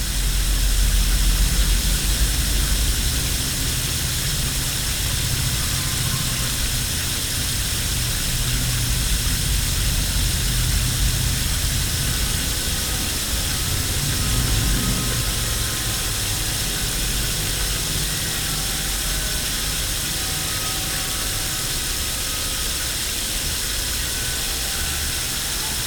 water of a firehose runs into a sewer 0.0 - 25.8

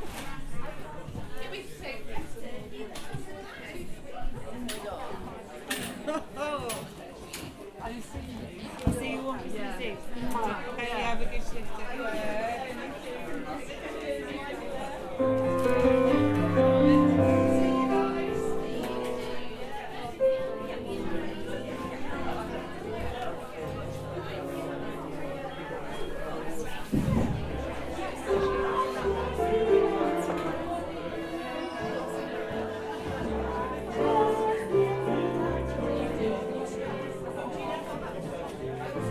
general hub-bub of people buying produce 0.0 - 39.1

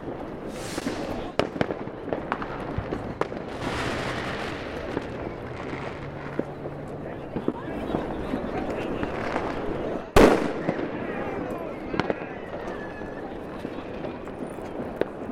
people 0.0 - 15.3
wind 0.0 - 15.3
very loud explosions 0.5 - 8.1

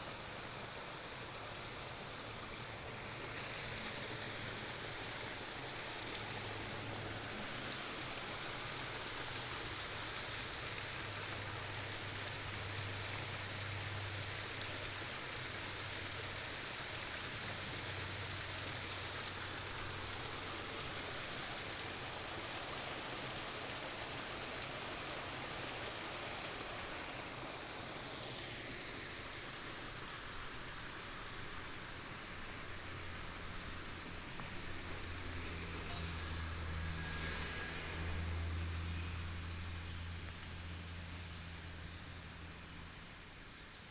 stream 0.0 - 43.9
Cicada 29.0 - 43.9
traffic sound 30.3 - 43.8

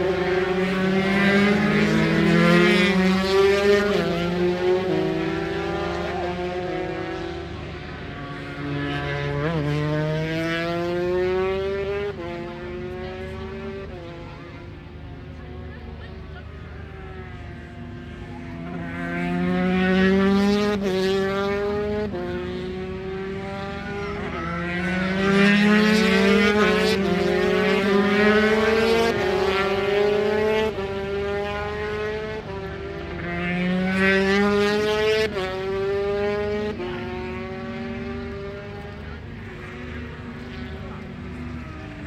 Superbikes 32.4 - 42.0

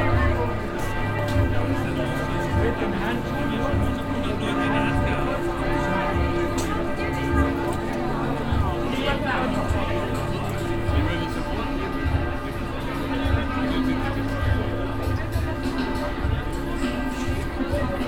altstadtpublikum 0.0 - 18.0

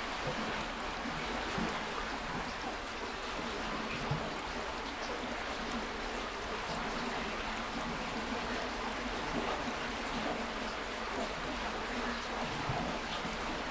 water flow at/under bridge 0.0 - 13.7

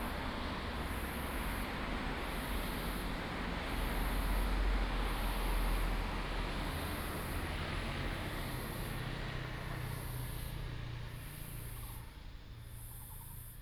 traffic sound 0.0 - 13.6

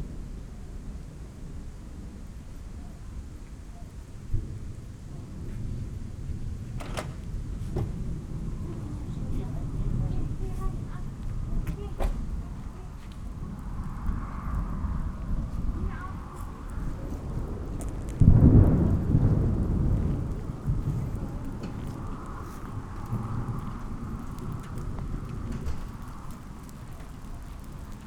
thunderstorm arrives 0.0 - 28.0

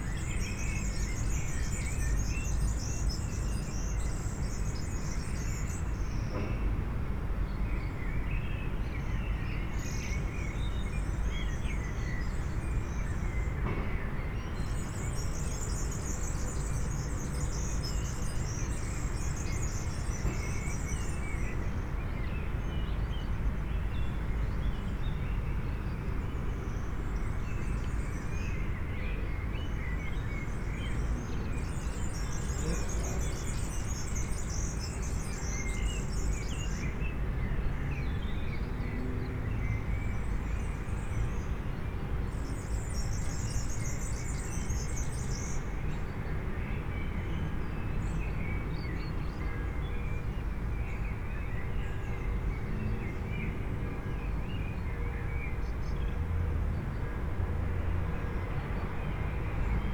constant traffic hum 12.4 - 59.9

